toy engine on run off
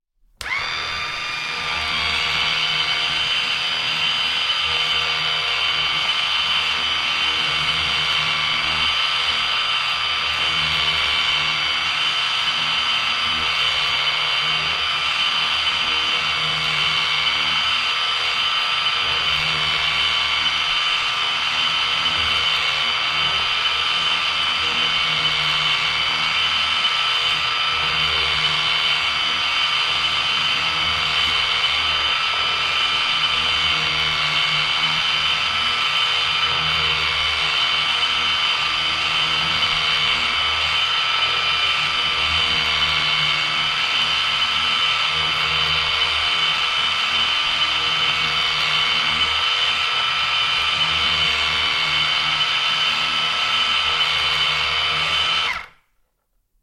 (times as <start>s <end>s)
48.1s 55.8s